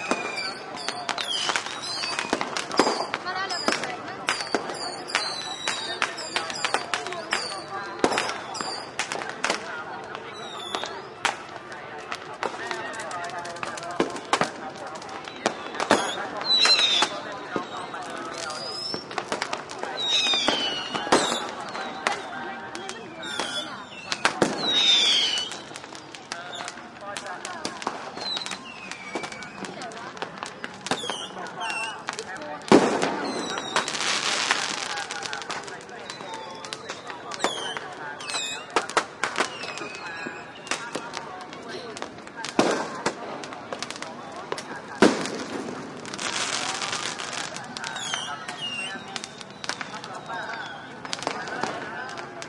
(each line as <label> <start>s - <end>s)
closer voices crowd 0.0s - 52.4s
firecrackers 0.0s - 52.4s
fireworks 0.0s - 52.4s